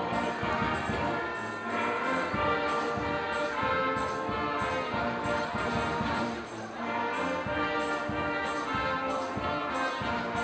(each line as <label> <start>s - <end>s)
Brass Band 0.0s - 10.4s